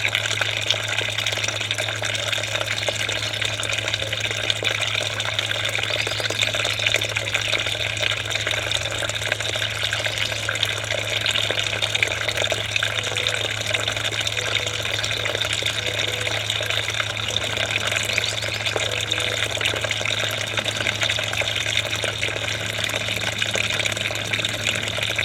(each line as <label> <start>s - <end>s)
small garden fountain 0.0s - 25.2s
trains passing by on the nearby railway tracks 18.8s - 25.2s